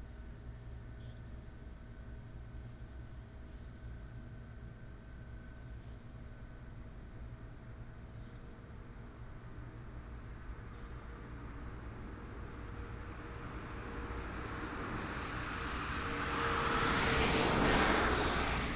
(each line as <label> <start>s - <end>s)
Traffic sound 10.4s - 18.7s